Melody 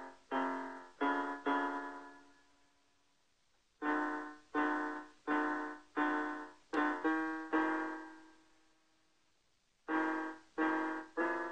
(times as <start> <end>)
3.8 8.4, 9.9 11.5